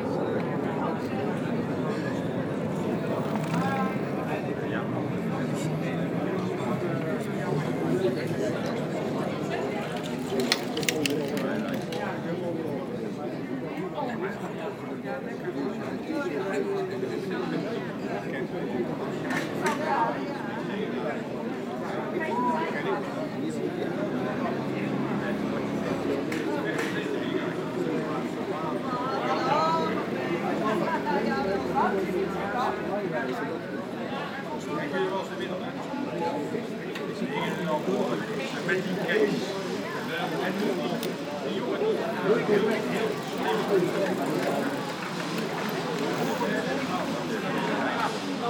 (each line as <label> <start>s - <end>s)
Lively discussions 0.0s - 48.4s